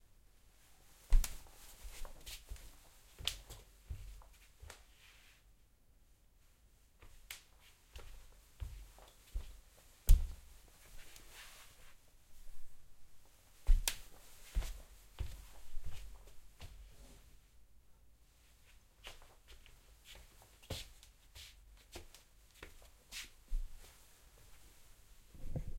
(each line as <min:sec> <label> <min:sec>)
0:01.1 Foot walking on wood floor 0:04.9
0:07.9 Foot walking on wood floor 0:17.1
0:19.0 Foot walking on wood floor 0:24.6